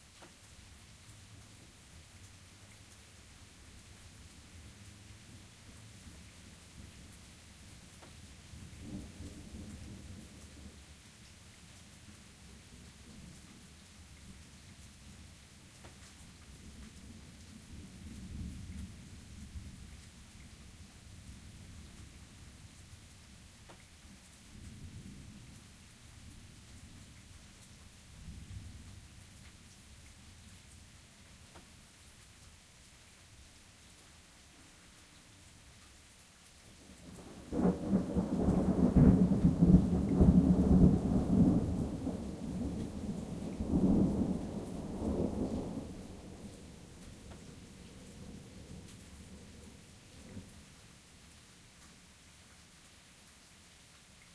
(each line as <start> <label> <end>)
0.0 Rain starts about half way in 54.3
8.5 soft thunder 10.9
37.0 soft thunder 50.6